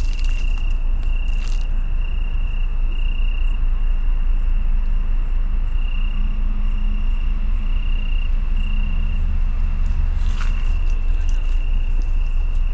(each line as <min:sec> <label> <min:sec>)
0:00.0 Italian tree crickets 0:12.7
0:06.0 very deep drone of a ship passing by 0:12.7